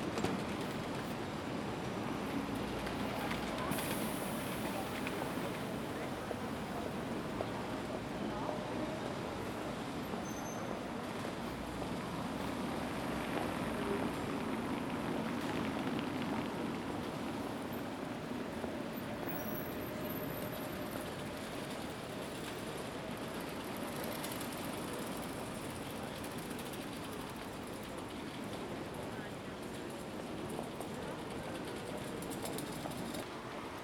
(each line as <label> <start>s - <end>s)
bikes 0.0s - 33.8s
noise of cars 0.0s - 33.8s
horse-drawn carriages Fiaker crossing the place 1.6s - 33.7s